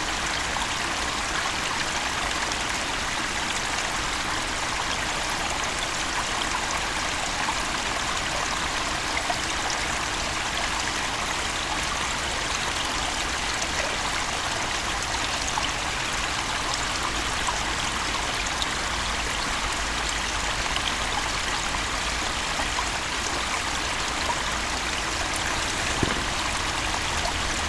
beaver dam 0:20.3 - 0:27.6

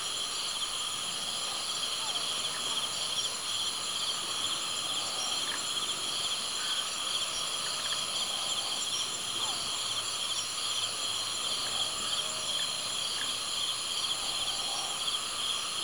#Cricket 0:00.0 - 0:15.8

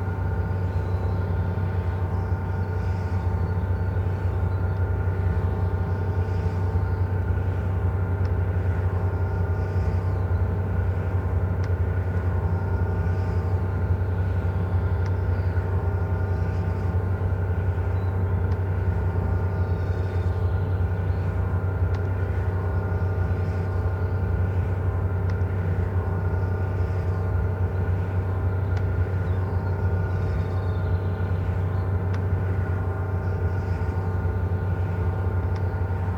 Windgenerator, sound at the door into the tower 0:00.0 - 0:36.1

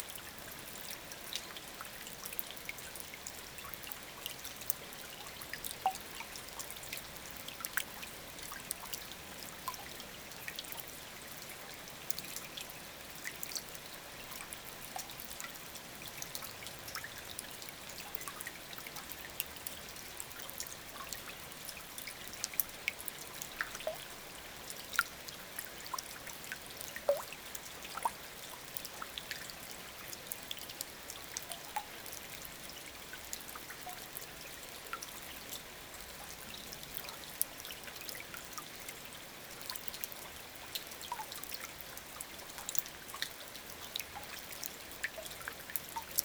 river flows very quietly 0:00.0 - 0:46.2

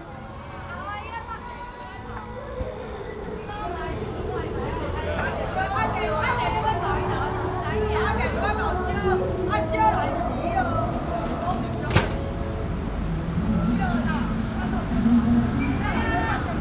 Taiwanese (folk) opera 0:00.0 - 0:11.9
Taiwanese (folk) opera 0:13.0 - 0:16.6

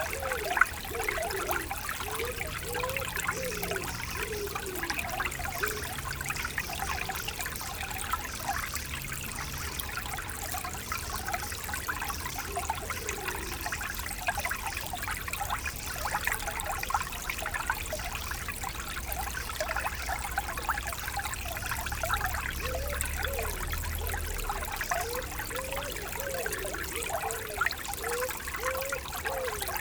small stream 0:00.0 - 0:29.8

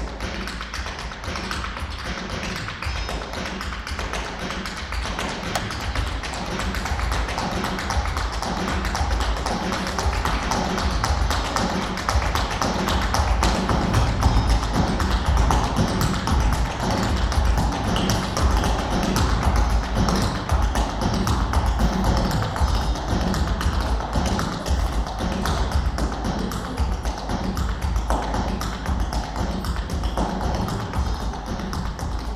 stepdancer rehearsing 0:00.0 - 0:32.3

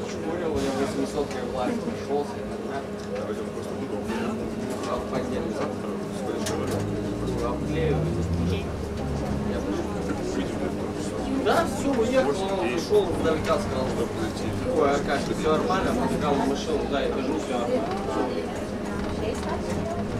Trolleybus ride 0:00.0 - 0:20.1

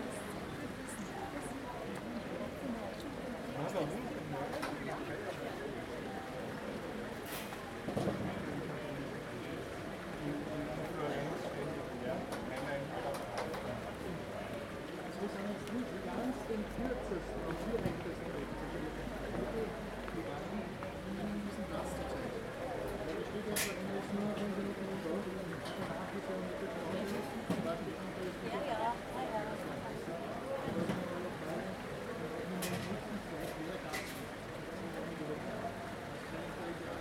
German tourists 0:00.0 - 0:37.0

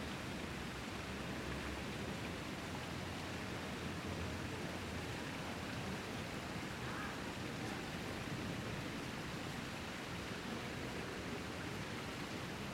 water fountains 0:00.0 - 0:12.7

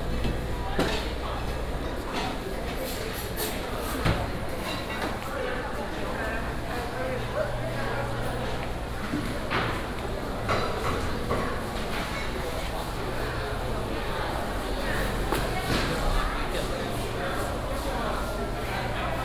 Walking in the traditional market 0:00.0 - 0:19.2

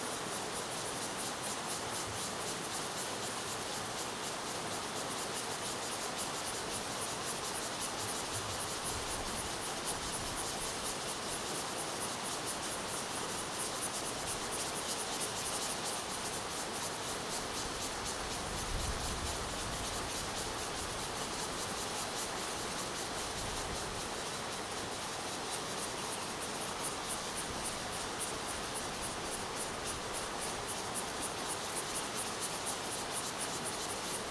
Cicadas sound 0:00.0 - 0:34.3

